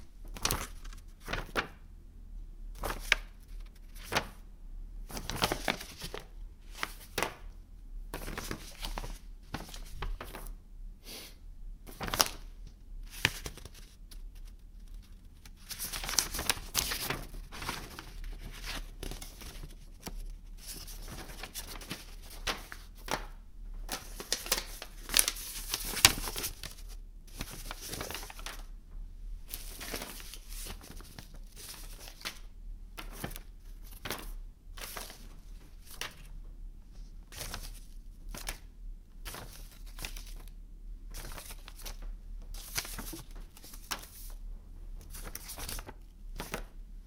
0.0s handling various pieces of paper and mail 1.8s
2.7s handling various pieces of paper and mail 4.4s
5.0s handling various pieces of paper and mail 11.2s
11.8s handling various pieces of paper and mail 28.8s
29.4s handling various pieces of paper and mail 47.0s

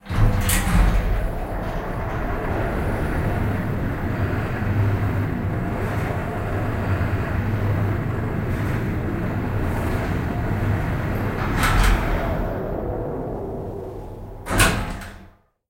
0.0s elevator 15.4s
0.0s AC unit 15.4s

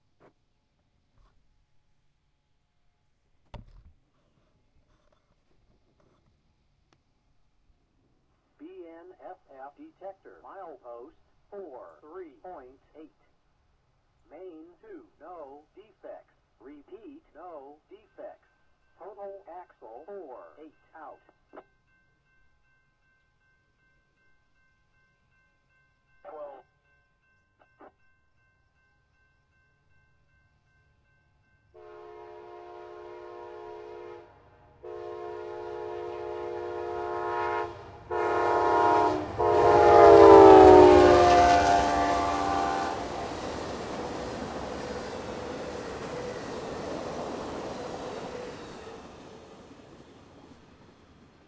0.0s train 3.2s
4.2s train 51.4s
31.8s horn 43.3s

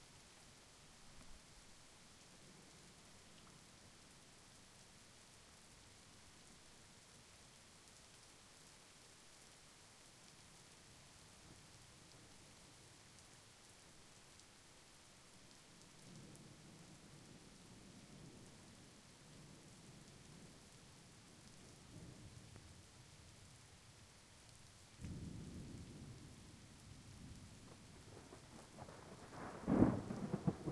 0.0s rain 30.7s
25.0s thunder 30.7s

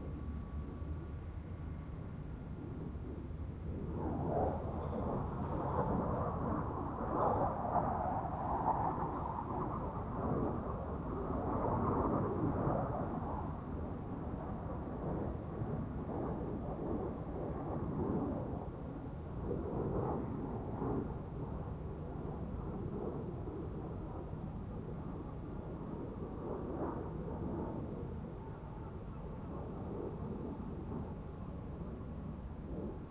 0.0s distant machinery 11.3s

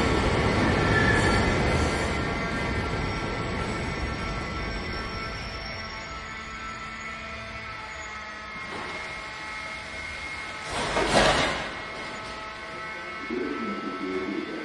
0.0s metro train arriving and departing 14.6s

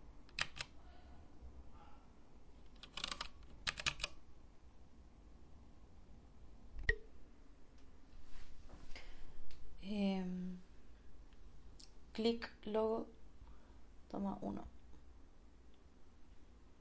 0.3s Mechanical keyboard clicking 0.7s
2.7s Mechanical keyboard clicking 4.2s

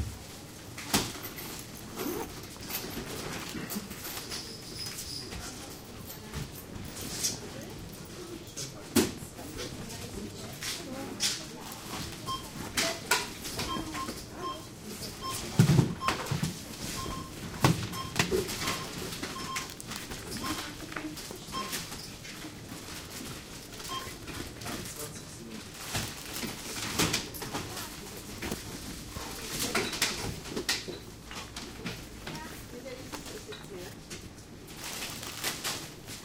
17.0s beeping 20.8s
18.1s Packing bags 21.9s
22.6s Packing bags 30.5s
34.6s Packing bags 36.2s

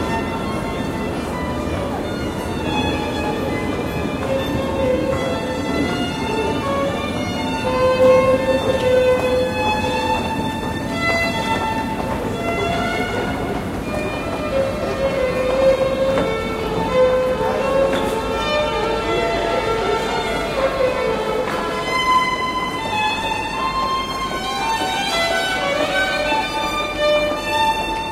0.0s crowd walking, talking 28.1s
0.0s street musician playing string instrument 28.1s

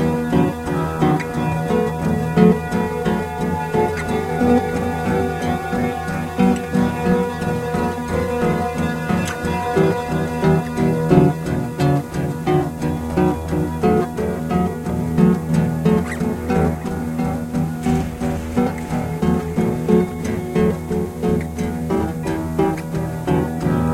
0.0s Acoustic Guitar 23.9s

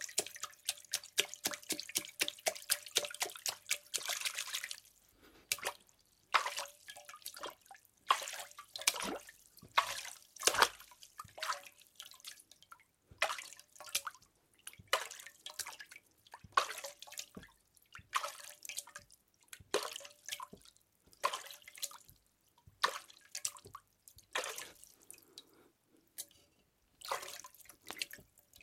0.0s Splashes 11.7s
0.0s drain 12.2s
0.0s drips 12.2s
27.0s Splashes 28.2s

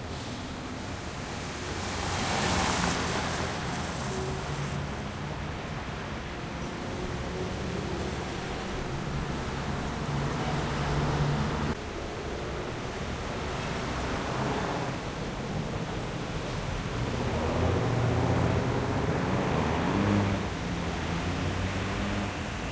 0.0s Caotic noisy city 22.7s
0.0s car 22.7s

